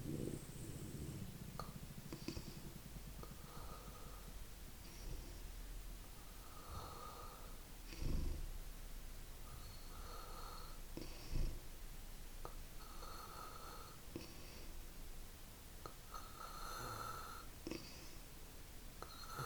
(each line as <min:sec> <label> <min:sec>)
0:00.0 breathing in the night 0:05.4
0:06.2 breathing in the night 0:08.4
0:09.4 breathing in the night 0:11.6
0:12.8 breathing in the night 0:14.8
0:16.1 breathing in the night 0:18.3